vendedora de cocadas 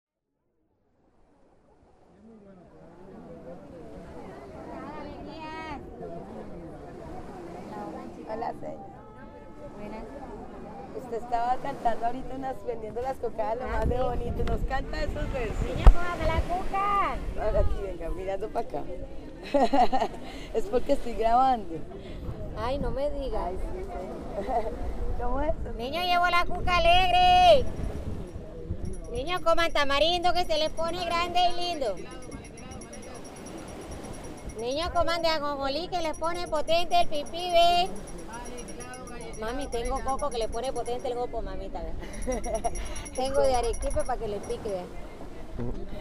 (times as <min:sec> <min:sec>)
0:29.0 0:33.4, 0:34.3 0:44.8